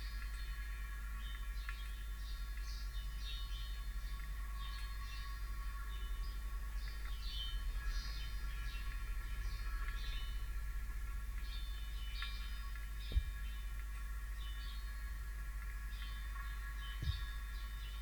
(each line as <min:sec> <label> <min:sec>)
0:00.0 rain water harvesting tanks 0:18.0
0:16.0 house sparrows 0:18.0